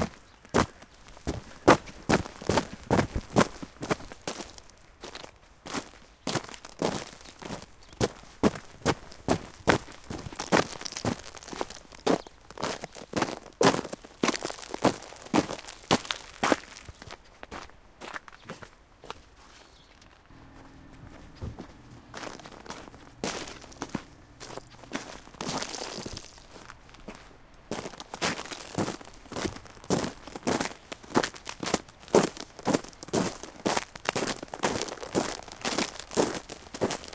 0.0s Walking on snow frozen to ice 37.1s

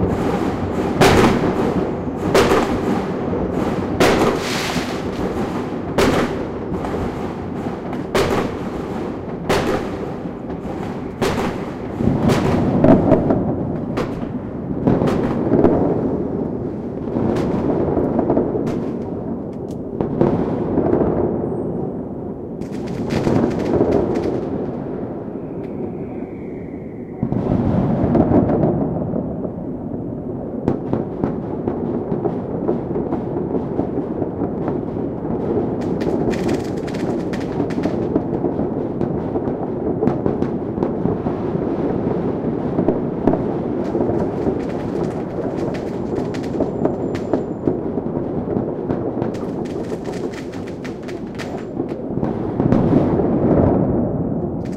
0.0s Firecrackers 54.7s
22.7s far away aerial bombs 30.2s
42.9s far away aerial bombs 47.8s

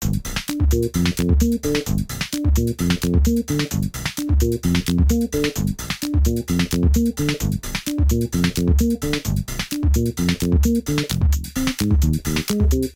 0.0s electronic music 12.9s

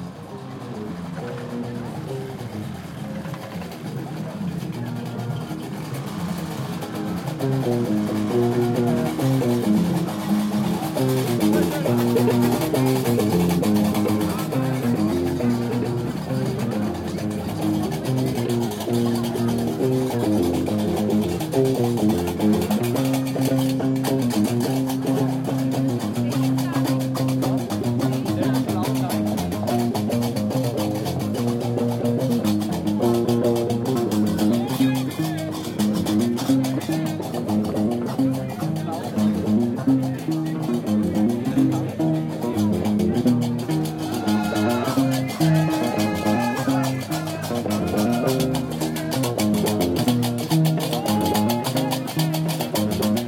0.0s street musicians 53.2s

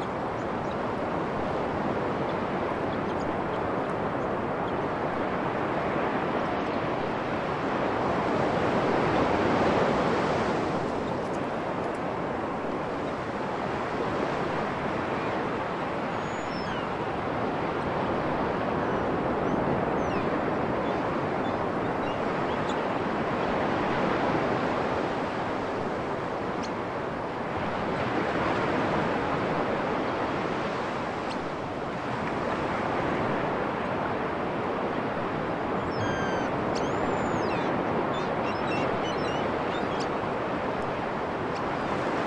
0.0s waves 42.2s
35.8s seagulls 40.2s

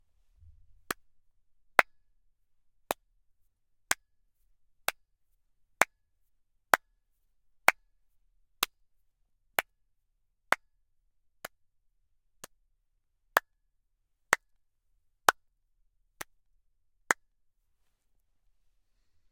7.7s Several handclaps 7.9s
12.4s Several handclaps 12.6s
14.3s Several handclaps 14.5s
17.1s Several handclaps 17.3s

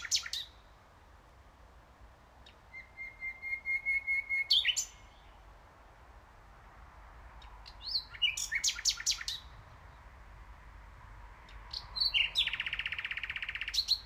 0.0s nightingale 1.0s
2.3s nightingale 6.0s
7.2s nightingale 14.0s

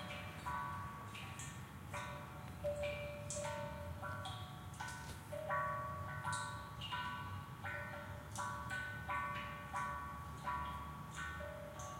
0.0s chimes 11.9s

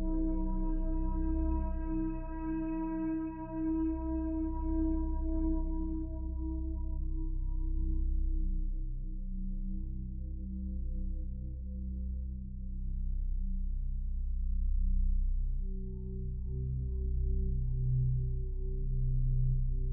0.0s synthesizer 19.9s

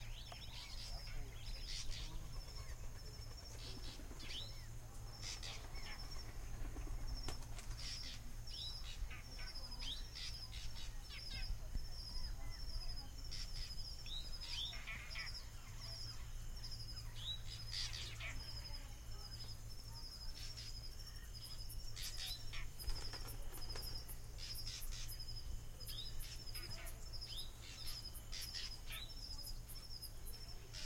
0.0s Bird sounds 30.8s

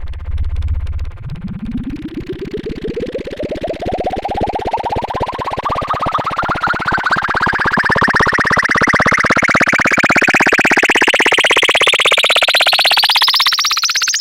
0.0s Analog bubbling with the filter going up 11.1s

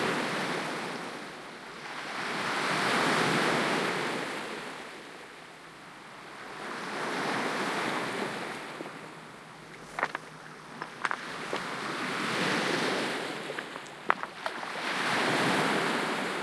6.2s Ocean waves 16.4s

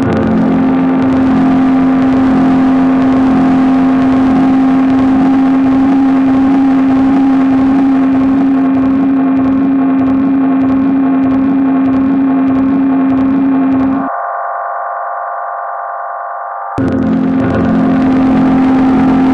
0.0s sampler, with a delay playing standards 19.3s

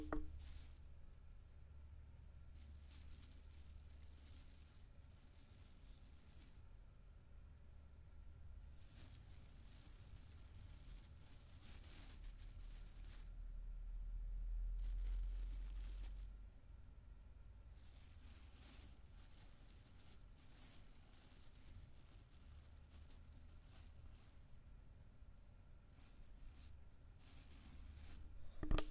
0.0s plastic bag rustling 0.9s
2.5s plastic bag rustling 6.7s
8.6s plastic bag rustling 13.4s
14.6s plastic bag rustling 16.4s
17.7s plastic bag rustling 24.8s
25.8s plastic bag rustling 28.9s

